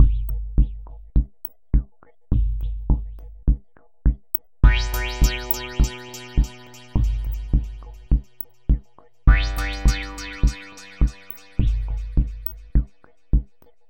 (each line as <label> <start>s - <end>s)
echoes 4.6s - 8.4s
panning bass stabs 4.6s - 8.4s
simple beats 4.6s - 8.4s
echoes 9.3s - 12.8s
panning bass stabs 9.3s - 12.9s
simple beats 9.3s - 12.9s